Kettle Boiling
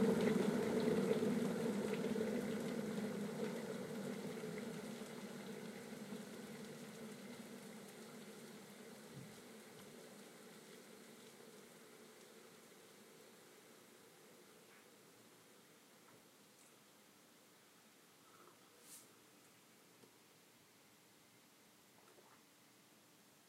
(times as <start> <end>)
0.0 17.6